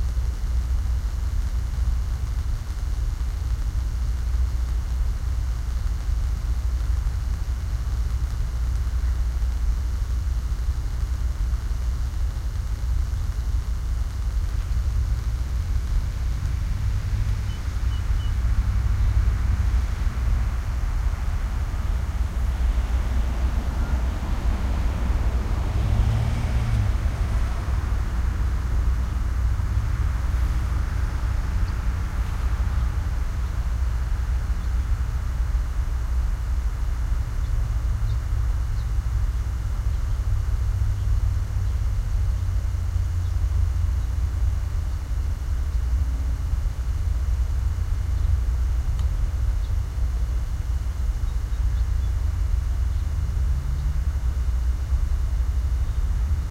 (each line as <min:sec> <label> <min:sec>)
0:00.0 hum and crackle of the electricity 0:56.5
0:00.0 slight background traffic noise 0:56.5
0:17.4 occasional bird song 0:19.2
0:31.1 occasional bird song 0:32.5
0:34.6 occasional bird song 0:35.0
0:37.4 occasional bird song 0:40.2
0:40.9 occasional bird song 0:41.9
0:48.1 occasional bird song 0:48.4
0:49.6 occasional bird song 0:49.8
0:51.2 occasional bird song 0:53.1
0:55.8 occasional bird song 0:56.2